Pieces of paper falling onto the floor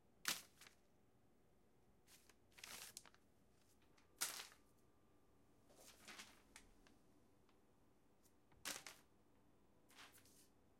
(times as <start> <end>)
0.3 0.8, 4.2 4.6, 5.8 6.7, 8.5 9.1